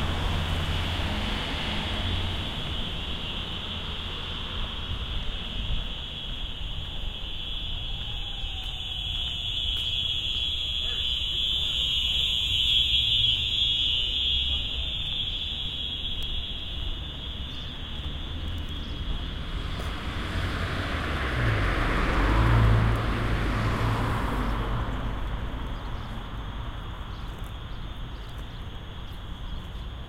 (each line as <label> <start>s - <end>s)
strange ringing fire alarm 4.7s - 18.6s